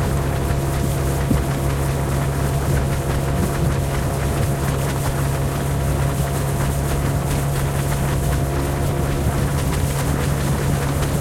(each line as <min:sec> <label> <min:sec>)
0:00.0 outboard motor 0:11.2
0:00.0 waves splatter against the boat 0:11.2